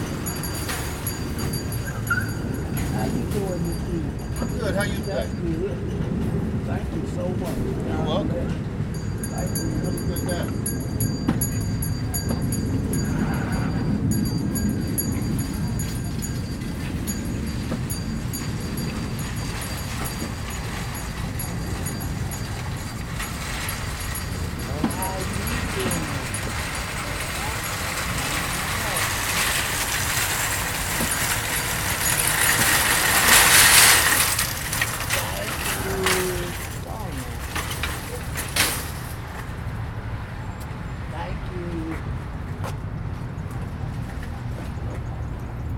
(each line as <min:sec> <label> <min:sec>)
0:00.0 ringing a bell 0:06.2
0:00.0 shopping carts 0:08.3
0:00.0 cars 0:45.7
0:02.7 talking to people 0:10.8
0:08.8 ringing a bell 0:38.7
0:08.9 shopping carts 0:39.6
0:24.6 talking to people 0:29.5
0:35.1 talking to people 0:38.3